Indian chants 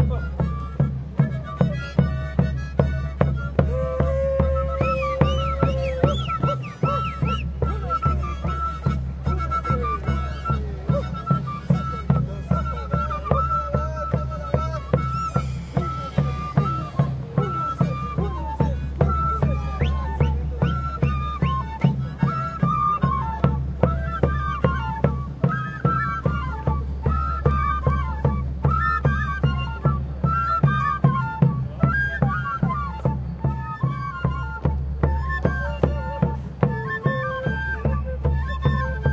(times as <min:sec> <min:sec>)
0:03.6 0:07.9, 0:12.1 0:20.8